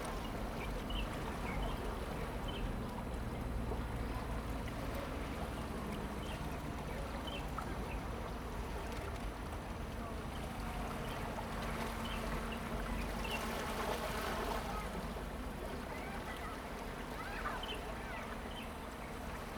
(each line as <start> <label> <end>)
0.0 waves 19.5